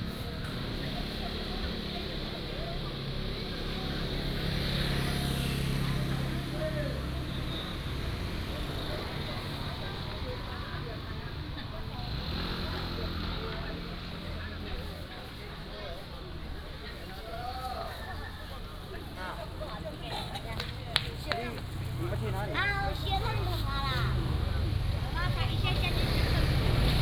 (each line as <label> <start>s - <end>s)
Traffic Sound 0.0s - 27.0s